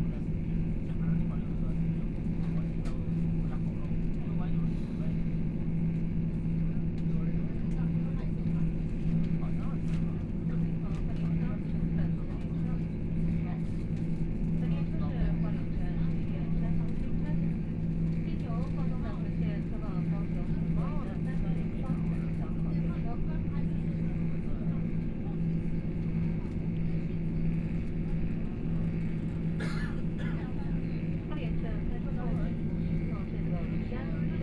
Noise inside the train 0:00.0 - 0:34.4
Dialogue between tourists 0:14.6 - 0:34.4

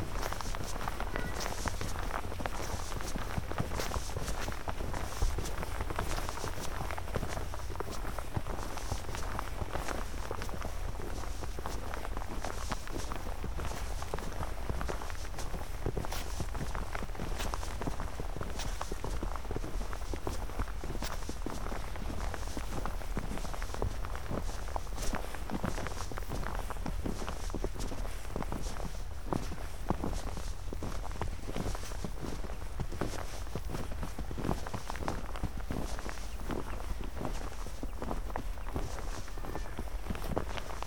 walking on snow 0:00.0 - 0:40.8

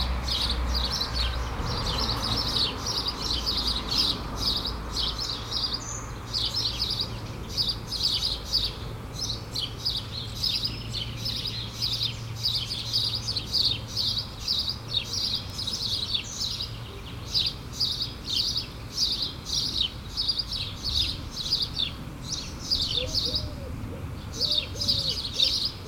cars 0:00.0 - 0:25.8
sparrows shouting 0:00.0 - 0:25.8

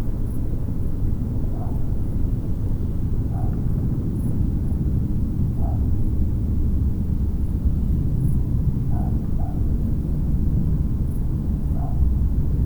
wind 0:00.0 - 0:12.6
dogs 0:01.5 - 0:01.8
dogs 0:03.3 - 0:03.7
dogs 0:05.6 - 0:05.8
dogs 0:08.9 - 0:09.7
dogs 0:11.7 - 0:12.1

